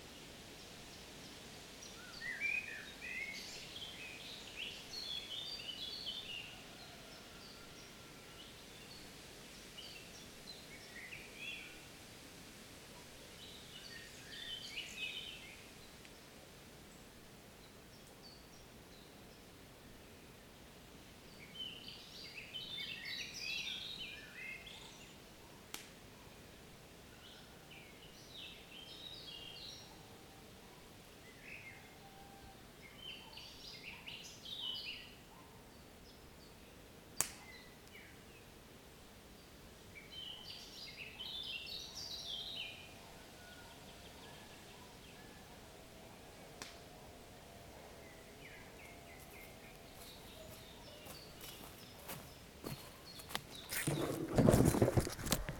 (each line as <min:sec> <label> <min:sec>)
0:39.3 birds 0:55.5